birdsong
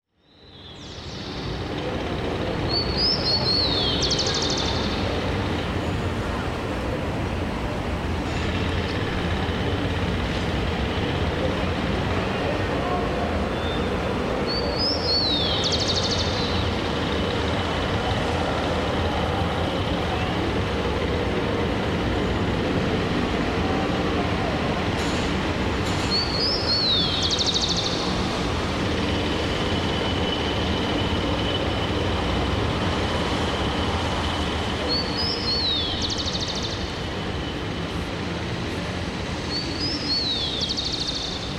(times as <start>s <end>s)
0.1s 6.1s, 12.1s 18.2s, 25.8s 32.2s, 32.9s 37.5s, 39.4s 41.5s